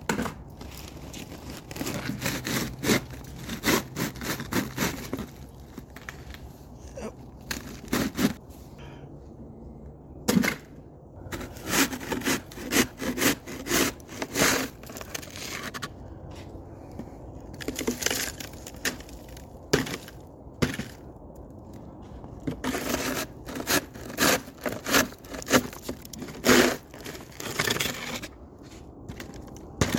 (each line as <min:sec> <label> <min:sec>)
0:11.3 shovelling snow 0:15.9
0:22.6 shovelling snow 0:29.9